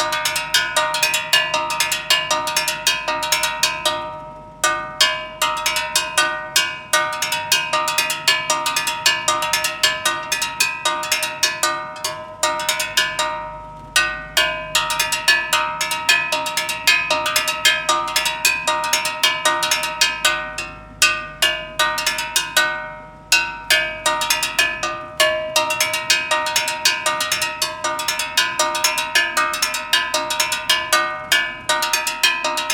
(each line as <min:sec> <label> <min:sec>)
0:00.0 Gas Seller Percussion 0:32.7